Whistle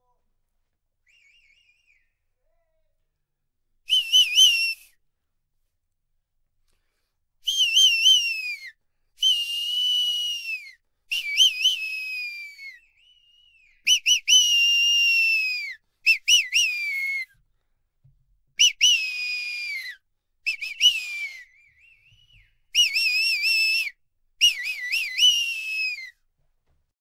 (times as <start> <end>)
1.0 2.7, 3.9 5.0, 7.4 17.4, 18.6 26.2